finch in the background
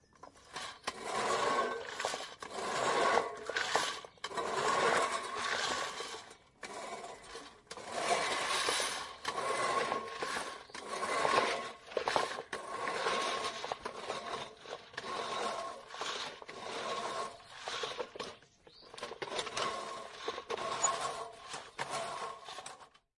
18.5 19.1

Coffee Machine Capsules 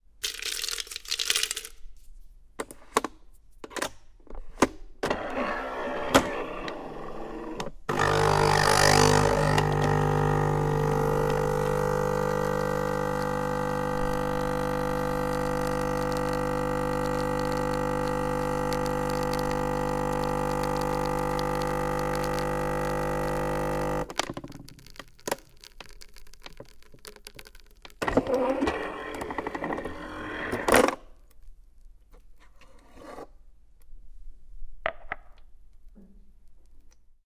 7.9 30.7

